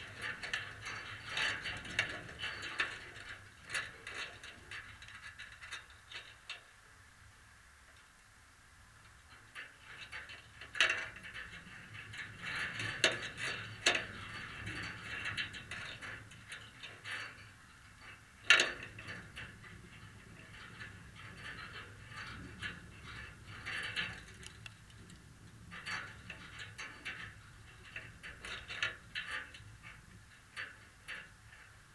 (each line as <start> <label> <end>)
18.5 metal fence in a lee 30.0